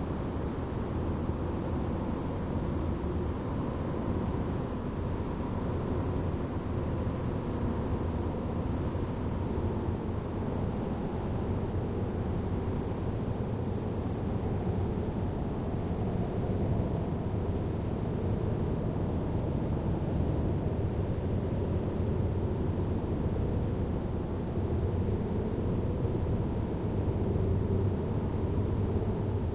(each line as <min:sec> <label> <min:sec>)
0:00.0 wind 0:29.5